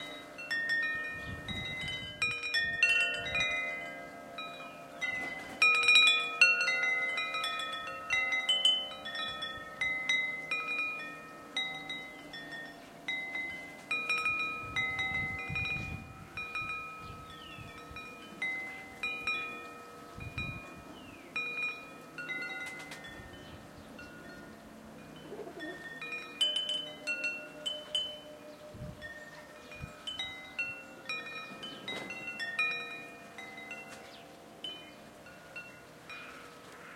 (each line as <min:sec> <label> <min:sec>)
0:00.0 wind noise 0:03.9
0:00.0 Garden chimes 0:36.9
0:13.6 wind noise 0:21.6
0:16.8 sparrows 0:36.9
0:27.3 wind noise 0:32.6